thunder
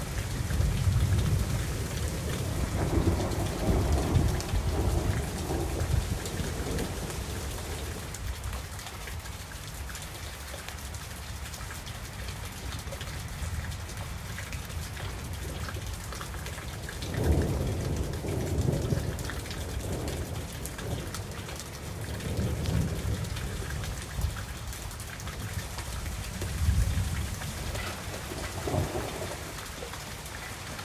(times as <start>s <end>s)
0.0s 8.0s, 17.0s 21.2s, 26.6s 29.5s